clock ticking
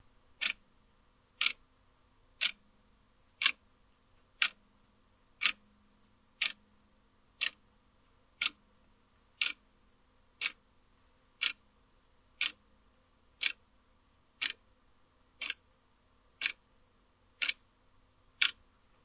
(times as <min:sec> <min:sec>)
0:00.4 0:00.6, 0:01.4 0:01.6, 0:02.4 0:02.6, 0:03.4 0:03.6, 0:04.4 0:04.6, 0:05.4 0:05.7, 0:06.4 0:06.6, 0:07.4 0:07.6, 0:08.4 0:08.6, 0:09.4 0:09.6, 0:10.4 0:10.6, 0:11.4 0:11.6, 0:12.4 0:12.6, 0:13.4 0:13.6, 0:14.4 0:14.6, 0:15.4 0:15.6, 0:16.4 0:16.6, 0:17.4 0:17.6, 0:18.4 0:18.6